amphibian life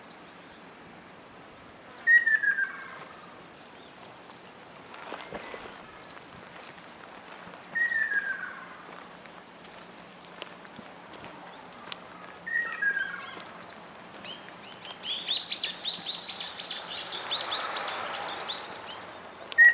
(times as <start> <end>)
4.6 19.7